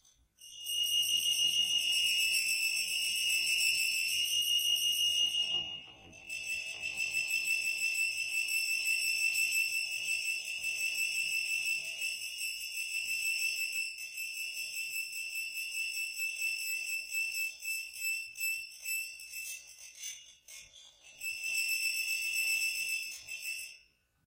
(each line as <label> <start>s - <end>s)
Creaking Metal - High Pitch 0.4s - 12.2s